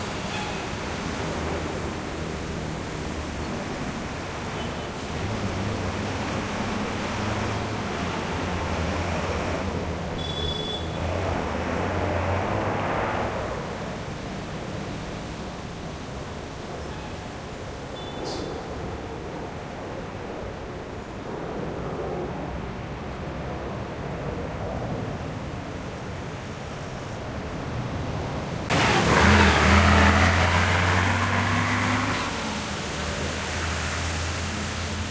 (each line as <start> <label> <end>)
0.0 car 19.4
0.0 Caotic noisy city 35.1
10.2 horns 11.1
25.9 car 35.1